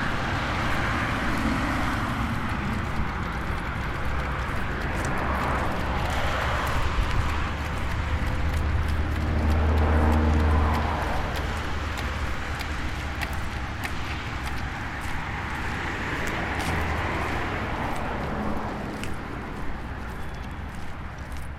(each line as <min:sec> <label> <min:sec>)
0:00.0 tram ride 0:21.4